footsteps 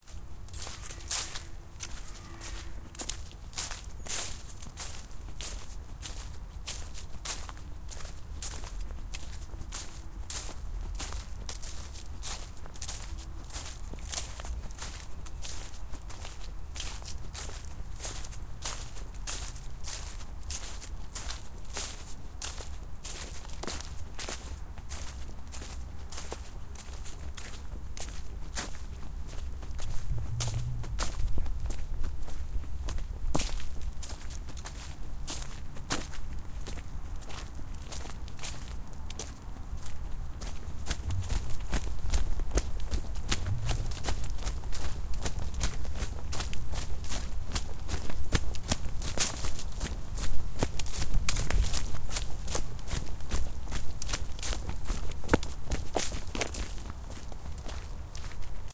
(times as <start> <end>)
0.0 15.0, 26.2 53.4